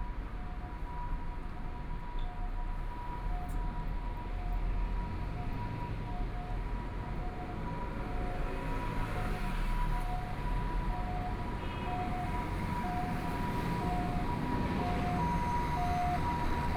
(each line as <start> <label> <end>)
7.9 Traffic Sound 16.7